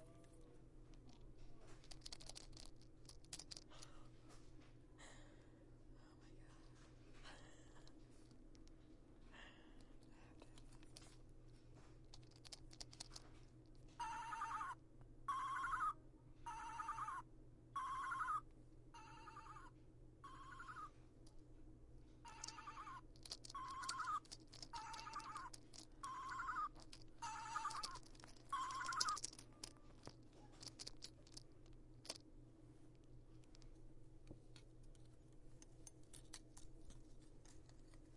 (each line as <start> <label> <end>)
22.3 several different sound toys panning around my recorder 29.4